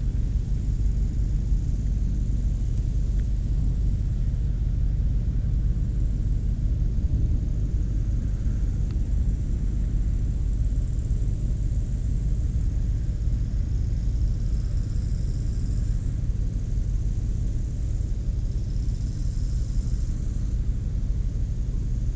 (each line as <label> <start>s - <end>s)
Locust singing on the high grass 7.6s - 22.1s